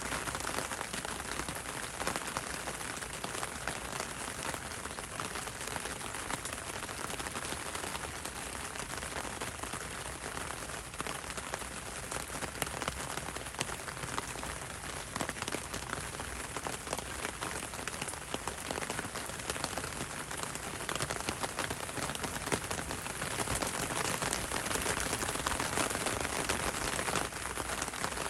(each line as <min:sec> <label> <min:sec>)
0:00.0 rain on umbrella 0:28.2